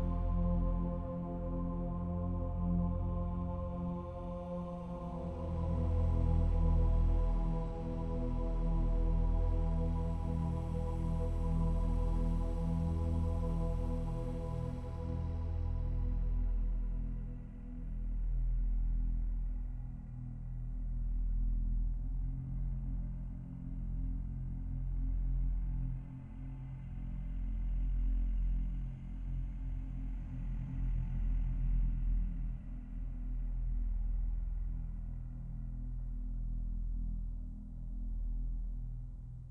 synthesizer 0:00.0 - 0:39.5

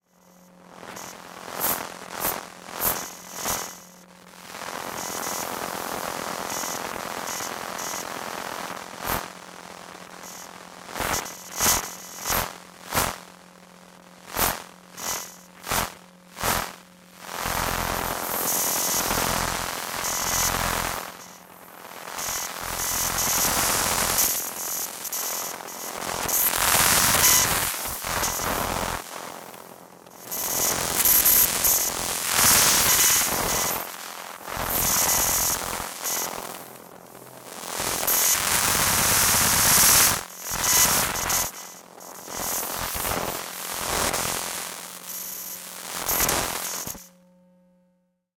electromagnetic waves from a Macbook Pro 0:00.0 - 0:47.9

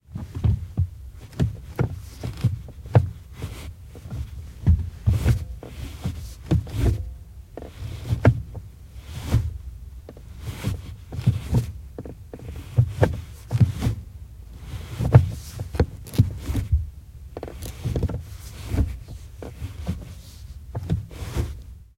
gearbox inside car 0:00.1 - 0:21.8

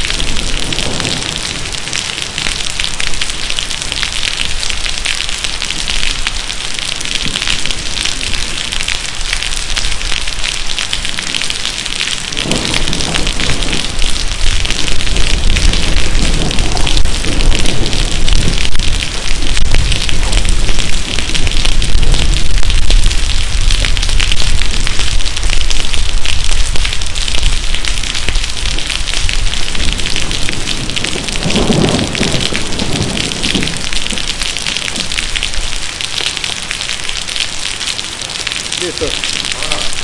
rain 0:00.0 - 0:40.0
storm with somw thunders 0:00.0 - 0:40.0

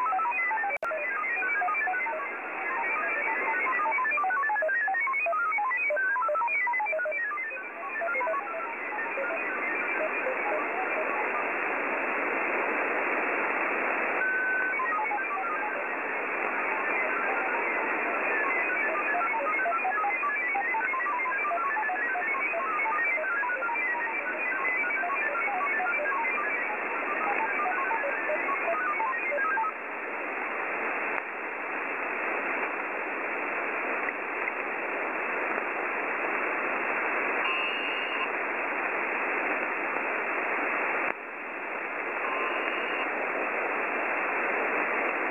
ROS modem signals 0:00.0 - 0:29.8
static 0:00.0 - 0:45.3
ROS modem signals 0:36.8 - 0:45.3

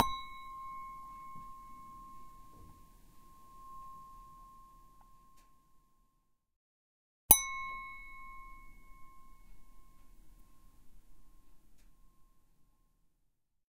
glass-ding 0:00.0 - 0:06.2
glass-ding 0:07.3 - 0:12.9

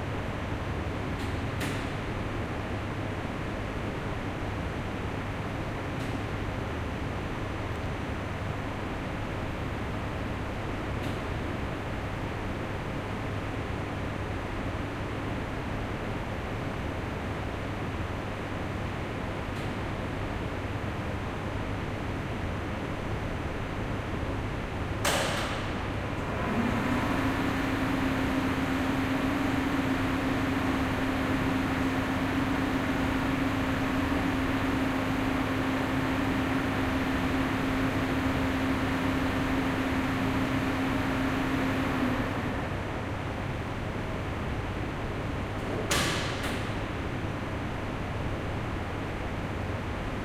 two motors for two lifts 0:26.2 - 0:42.9

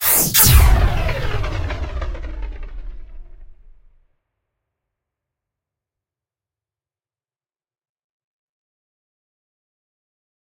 sci-fi plasma cannon shot 0:00.0 - 0:04.0

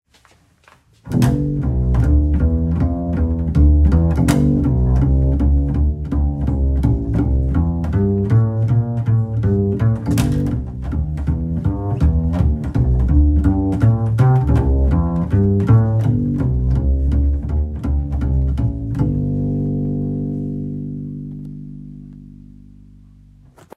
Double bass walking 0:00.1 - 0:23.7

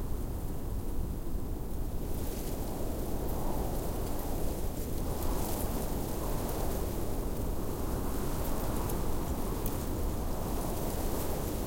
wind medium blustery whips through grass stalks 0:00.1 - 0:11.6

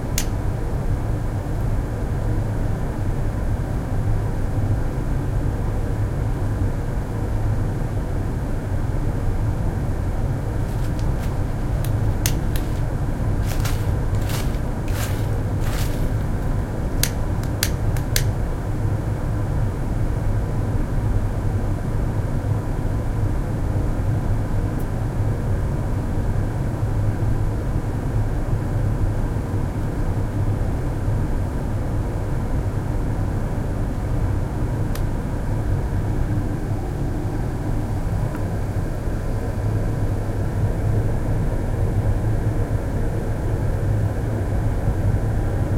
ventilation system 0:00.0 - 0:30.0
Starting a fire in a blacksmithing furnace 0:00.0 - 0:00.4
Starting a fire in a blacksmithing furnace 0:10.4 - 0:18.3
ventilation system 0:32.8 - 0:45.7

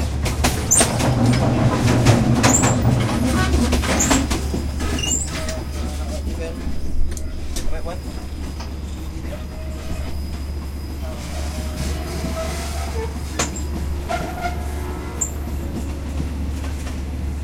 Thai train departing from the train station 0:00.0 - 0:17.4
metal squeals and hits 0:00.6 - 0:06.2
metal squeals and hits 0:08.1 - 0:15.6

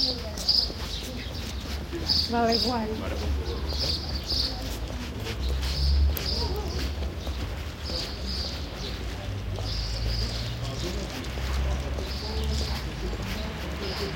birds 0:00.0 - 0:14.1

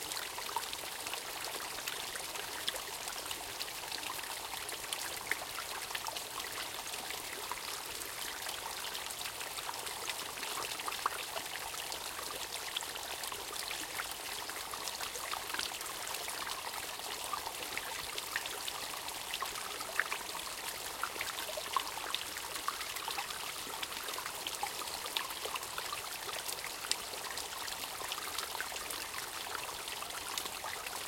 Small waterfall 0:00.0 - 0:31.0

